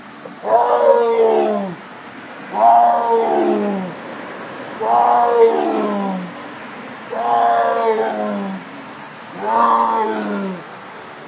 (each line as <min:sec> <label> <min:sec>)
0:00.3 tiger roards 0:01.8
0:02.5 tiger roards 0:04.0
0:04.8 tiger roards 0:06.4
0:07.1 tiger roards 0:08.7
0:09.3 tiger roards 0:10.6